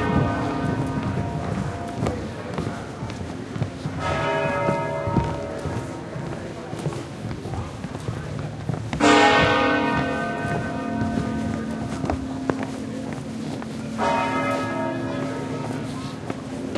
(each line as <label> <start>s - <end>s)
people walking and talking 0.0s - 16.7s
slow pealing from church bells 0.0s - 16.7s
street noise 0.0s - 16.7s